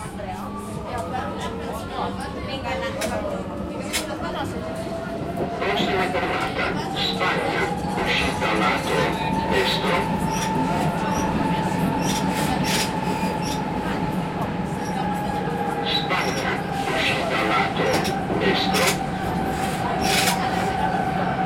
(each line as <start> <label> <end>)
0.0 people talking in italian 21.4
5.4 talkoff voice advising for next stops 11.0
15.6 talkoff voice advising for next stops 19.0